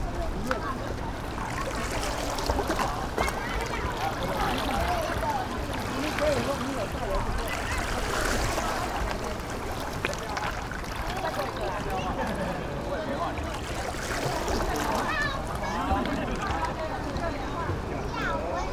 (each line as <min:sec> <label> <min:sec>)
0:00.0 Play in the water 0:18.7